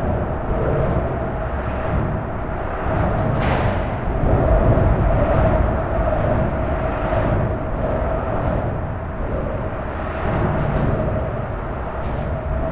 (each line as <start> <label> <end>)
0.0 suburban train arrives at the station 12.7